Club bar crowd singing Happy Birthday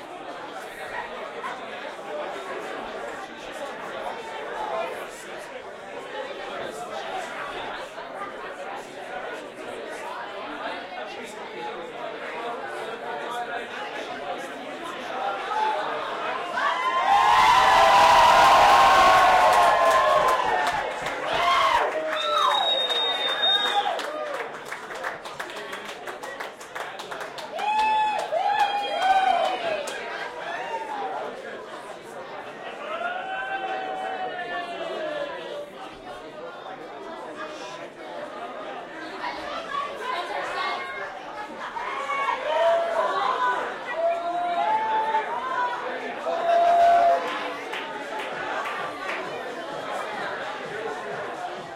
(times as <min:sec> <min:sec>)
0:47.6 0:51.7